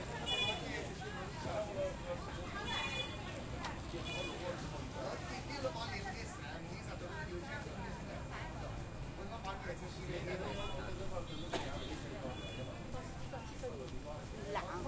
0.0s foot traffic 14.8s
0.0s voices 14.8s

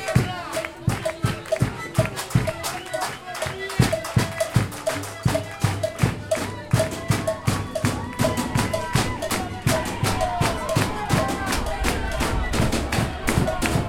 0.0s Demonstrators 13.8s

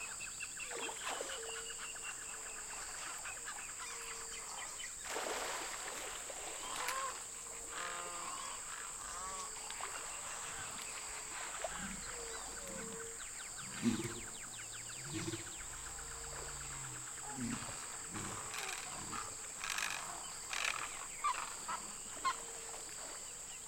0.0s Birds 23.6s
0.0s water 23.6s

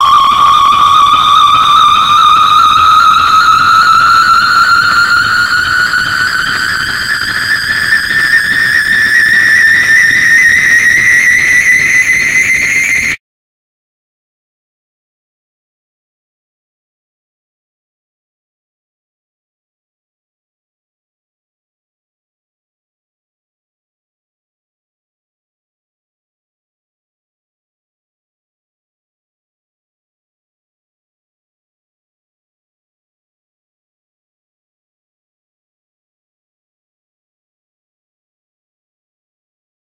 0.0s Long and distorted scream 13.2s

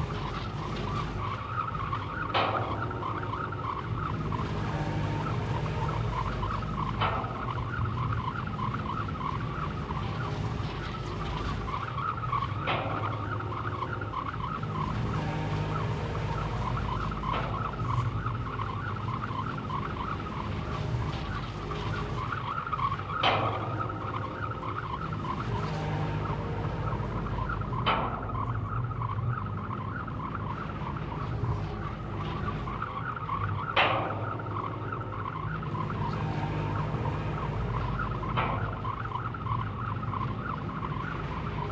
0.0s Petroleum extraction mechanical pump 41.7s

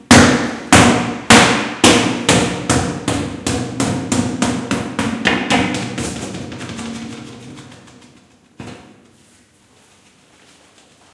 0.0s large fitball bouncing along hallway 9.2s

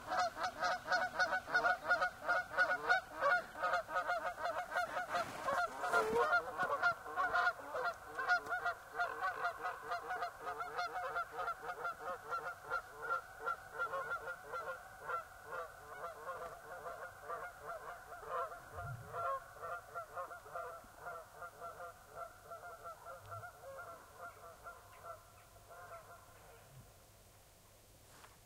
0.0s geese flying overhead 27.0s
4.6s foot shuffling in the snow 6.8s
28.0s foot shuffling in the snow 28.4s

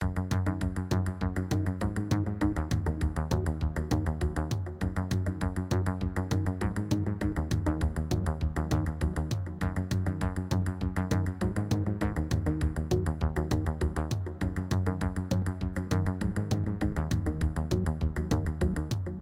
0.0s beat 19.2s

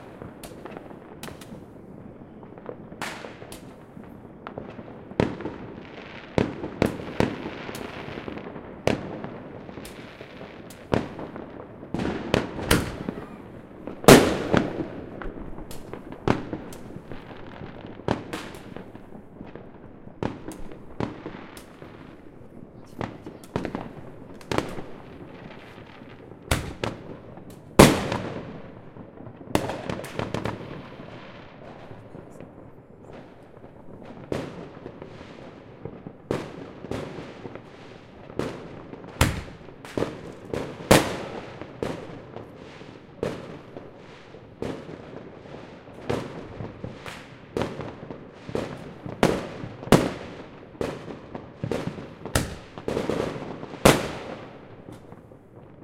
0.0s Fireworks 55.8s
0.0s fire-crackers 55.8s
0.0s rockets 55.8s
10.8s explosions 35.1s

